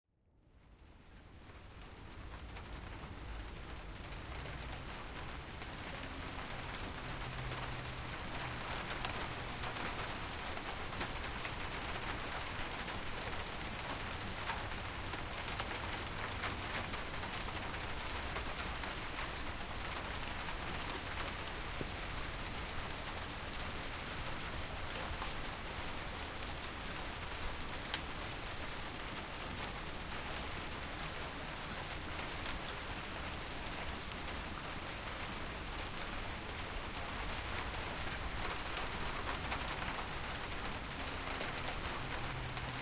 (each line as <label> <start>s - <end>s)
Gentle rain on window 0.3s - 42.8s